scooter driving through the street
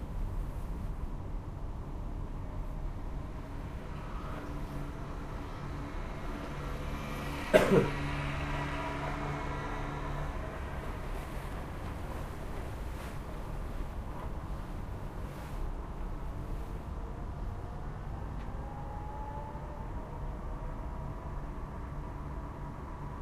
4.0 11.8

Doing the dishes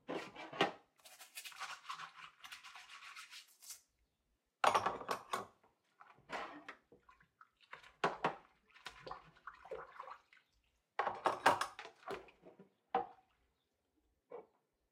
4.6 7.1, 11.0 13.2

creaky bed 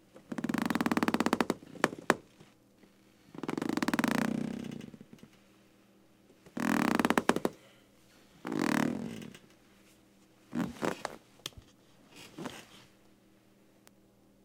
0.2 5.3, 6.5 7.6, 8.4 9.6, 10.5 11.2

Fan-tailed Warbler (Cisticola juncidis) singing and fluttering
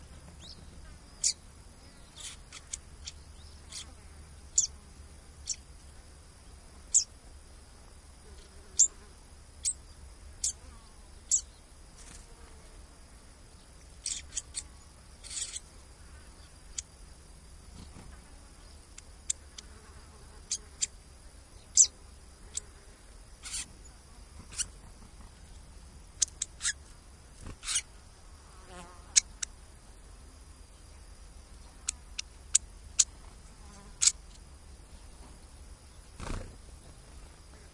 0.1 4.8, 5.4 5.7, 6.9 7.1, 8.4 12.6, 13.7 15.7, 17.7 21.0, 21.6 27.9, 28.6 29.6, 31.6 37.7

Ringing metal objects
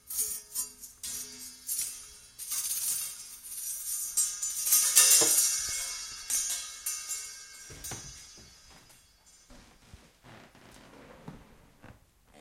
0.0 9.8

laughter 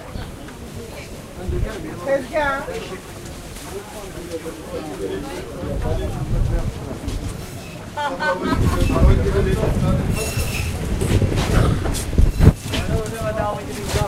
8.0 9.4

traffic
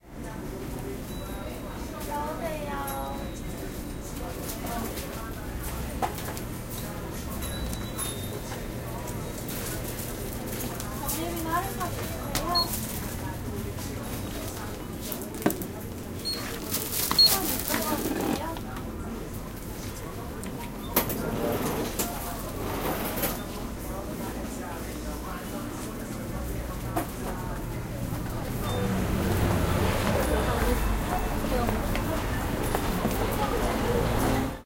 26.8 34.6

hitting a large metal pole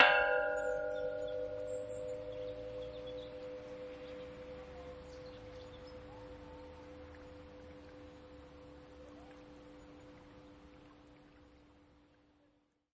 0.0 2.4

